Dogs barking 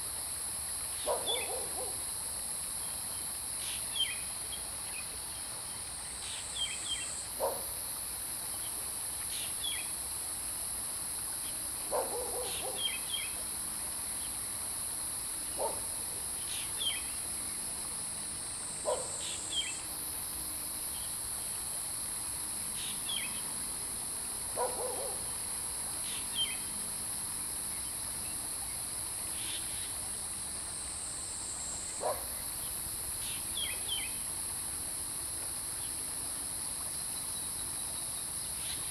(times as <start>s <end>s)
1.1s 2.0s, 7.4s 7.7s, 11.9s 12.8s, 18.9s 19.2s, 24.6s 25.2s, 32.0s 32.3s